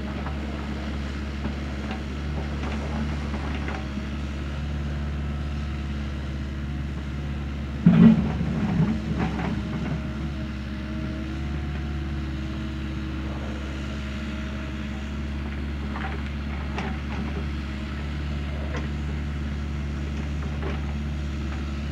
steel tracked 6 ton excavator digging stony ground 0.0 - 21.9

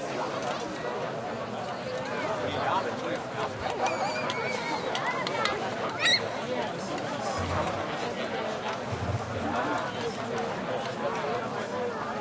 festival crowd 0.0 - 12.2
kids playing shouting 3.8 - 6.4

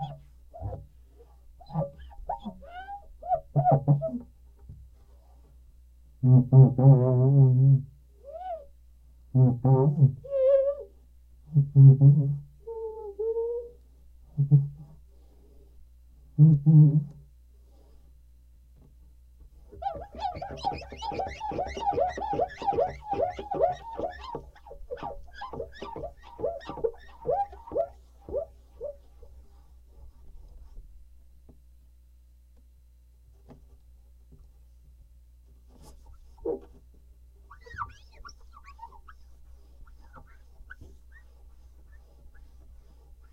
squeaky sound while cleaning glass 0.0 - 0.8
squeaky sound while cleaning glass 1.6 - 4.2
squeaky sound while cleaning glass 9.4 - 10.9
squeaky sound while cleaning glass 19.7 - 29.0
squeaky sound while cleaning glass 37.5 - 43.3

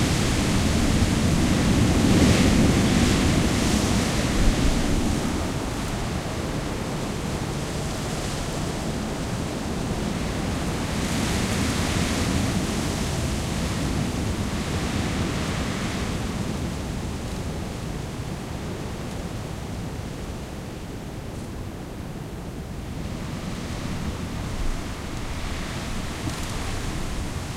Stormy winds through the trees 0.0 - 27.5

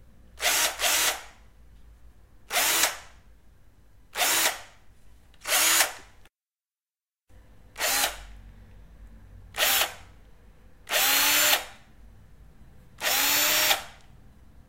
power screwdriver 0.4 - 1.3
power screwdriver 2.5 - 3.1
power screwdriver 4.2 - 4.7
power screwdriver 5.4 - 6.1
power screwdriver 7.8 - 8.3
power screwdriver 9.6 - 10.0
power screwdriver 10.9 - 11.8
power screwdriver 13.0 - 14.0

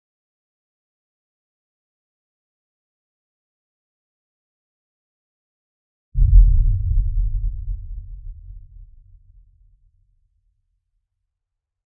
Low bass-like boom 6.2 - 9.6

